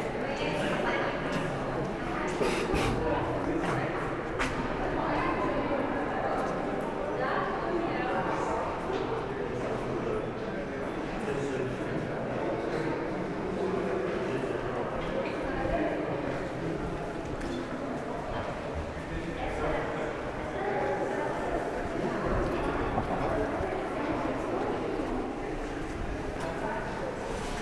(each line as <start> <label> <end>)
1.1 crossing all the tunnel by feet 5.0